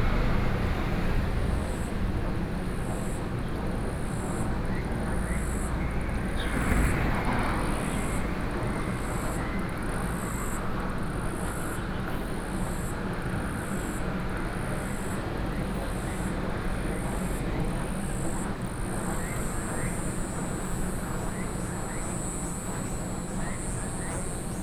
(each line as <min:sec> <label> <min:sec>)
0:00.0 Traffic Sound 0:24.6